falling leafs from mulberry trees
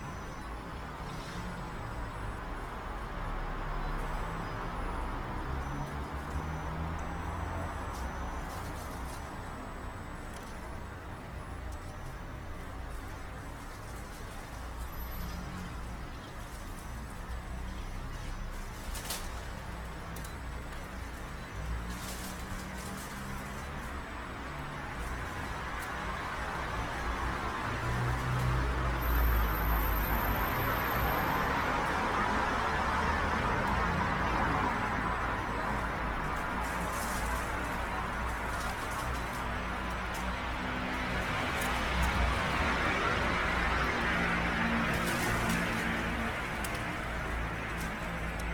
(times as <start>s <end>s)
12.9s 48.5s